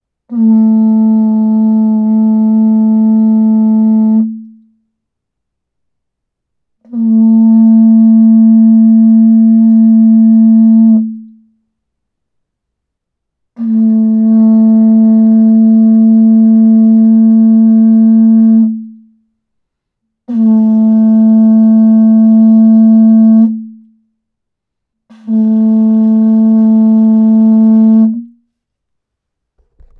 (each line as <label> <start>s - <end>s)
big cattle-horn (approx. 70 cm), blown 0.3s - 4.9s
big cattle-horn (approx. 70 cm), blown 6.8s - 11.6s
big cattle-horn (approx. 70 cm), blown 13.5s - 19.3s
big cattle-horn (approx. 70 cm), blown 20.2s - 24.1s
big cattle-horn (approx. 70 cm), blown 25.0s - 28.5s